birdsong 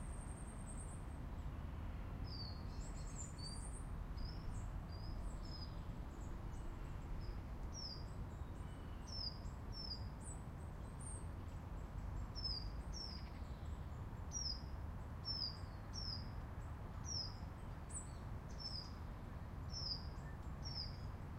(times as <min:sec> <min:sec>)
0:02.3 0:14.6, 0:15.2 0:16.3, 0:17.0 0:19.0, 0:19.7 0:21.1